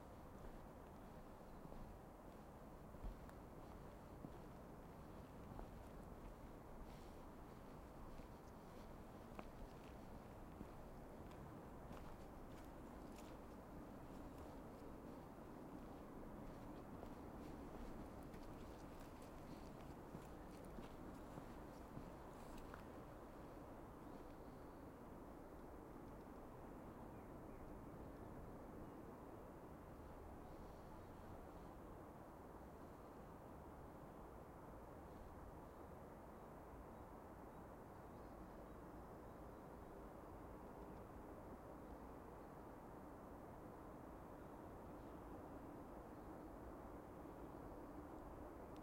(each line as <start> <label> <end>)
0.0 Distant traffic 27.8